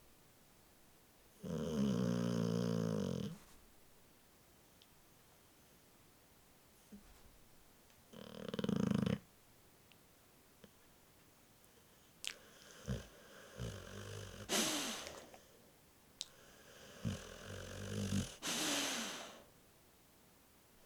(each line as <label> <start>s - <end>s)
Bull mastiff asleep and snoring 1.4s - 3.4s
Bull mastiff asleep and snoring 8.1s - 9.3s
Bull mastiff asleep and snoring 12.3s - 15.5s
Bull mastiff asleep and snoring 16.3s - 19.0s